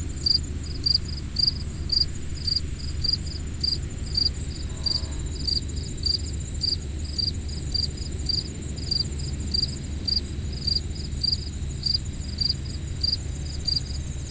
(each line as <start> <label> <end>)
0.0 airplane 14.3
0.0 cicadas 14.3
0.0 crickets 14.3